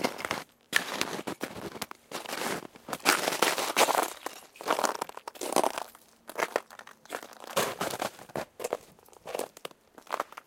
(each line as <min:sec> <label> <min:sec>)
0:00.0 Footsteps on ice chunks 0:10.4